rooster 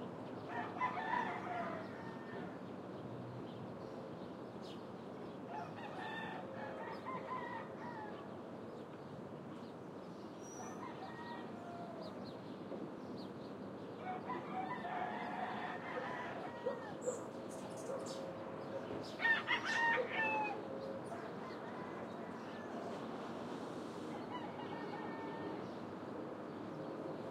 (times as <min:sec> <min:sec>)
0:00.5 0:02.6, 0:05.5 0:08.3, 0:10.6 0:12.3, 0:14.0 0:23.2, 0:24.0 0:25.8